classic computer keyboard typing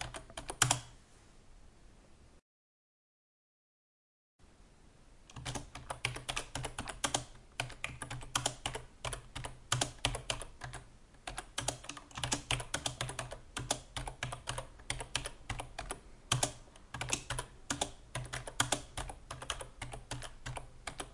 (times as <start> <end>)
0.0 0.9, 5.3 21.1